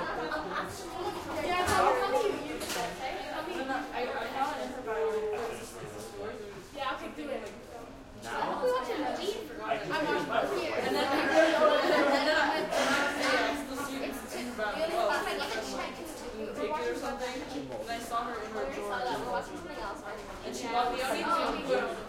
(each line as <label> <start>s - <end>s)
crowd light active conversations 0.0s - 22.0s